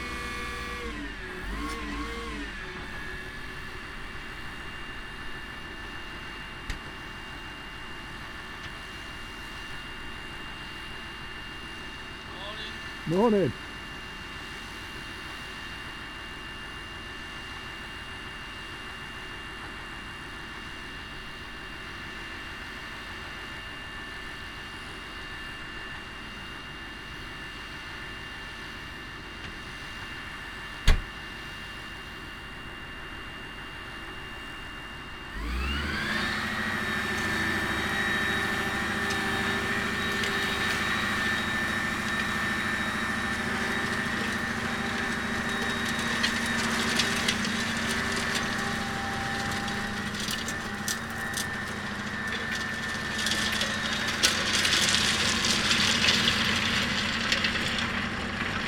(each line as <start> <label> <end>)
0.0 caterpillar tractor setting up a plough 4.7
35.3 caterpillar tractor setting up a plough 58.6